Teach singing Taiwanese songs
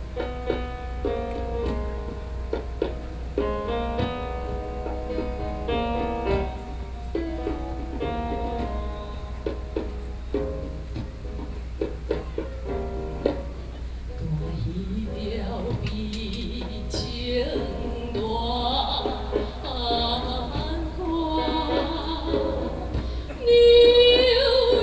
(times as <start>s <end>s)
14.2s 24.8s